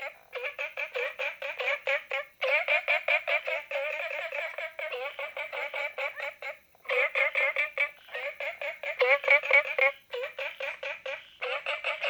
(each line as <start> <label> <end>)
0.0 Frogs chirping 12.0